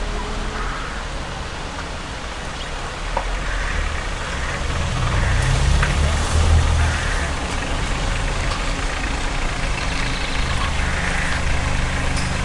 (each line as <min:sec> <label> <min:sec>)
0:00.0 cars 0:12.4
0:00.0 wind 0:12.4